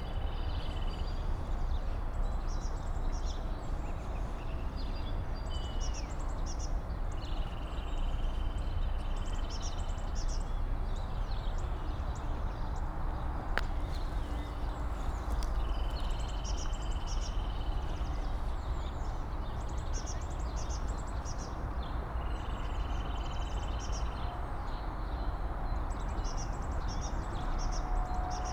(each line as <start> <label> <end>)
13.0 walking over an derelict skater park 16.8